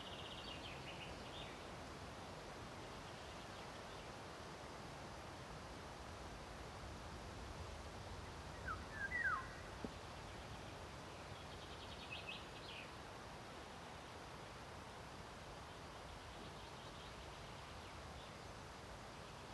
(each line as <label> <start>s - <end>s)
chaffinch sings in the distance 0.0s - 1.7s
Birch and beach leaves hiss in the breeze 0.0s - 19.5s
chaffinch sings in the distance 8.0s - 14.2s
woodpecker calls occasionally 8.6s - 9.9s
chaffinch sings in the distance 15.6s - 19.5s